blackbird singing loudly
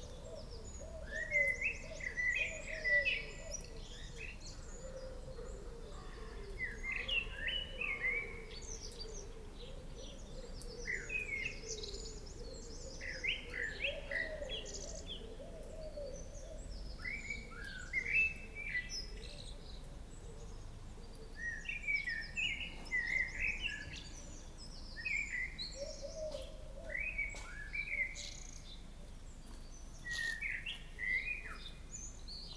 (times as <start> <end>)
0.0 4.6, 6.2 9.3, 30.0 32.5